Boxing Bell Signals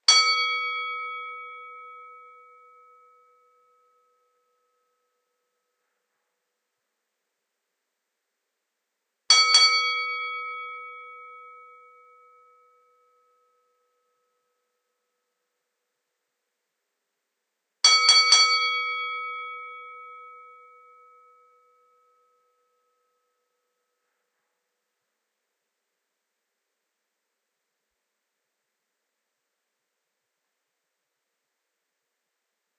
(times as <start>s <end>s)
0.0s 5.8s, 9.3s 14.5s, 17.8s 24.1s